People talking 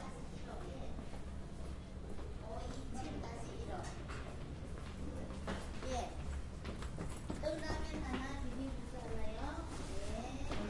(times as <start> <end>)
0.0 1.0, 2.2 4.1, 7.4 10.6